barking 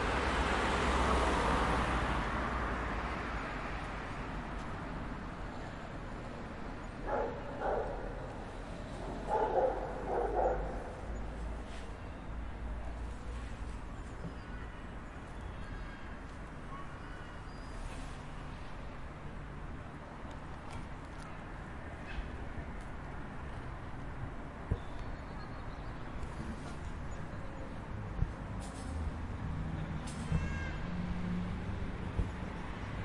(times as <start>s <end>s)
7.1s 8.0s, 9.3s 10.8s